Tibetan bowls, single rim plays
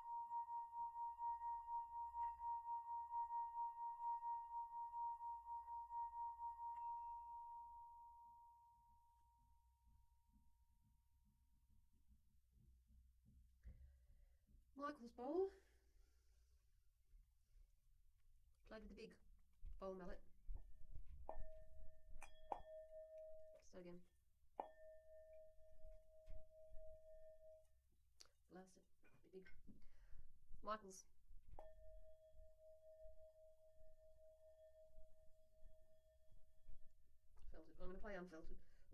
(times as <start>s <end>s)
0.0s 9.6s, 21.2s 23.8s, 24.6s 27.8s, 31.5s 36.7s